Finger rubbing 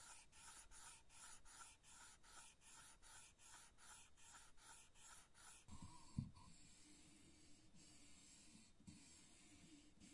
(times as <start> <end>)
0.0 5.7